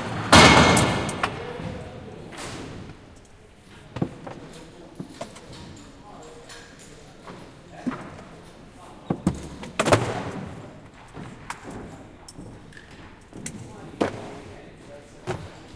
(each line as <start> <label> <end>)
0.0 sounds produced by people working 15.7
0.0 voices of the workers 15.7